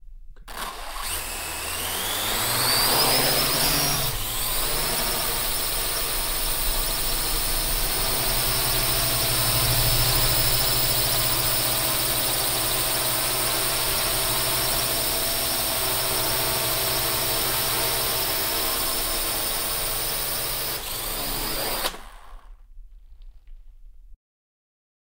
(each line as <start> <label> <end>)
0.4 drone quadrocopter launch 14.7
20.8 drone quadrocopter launch 22.6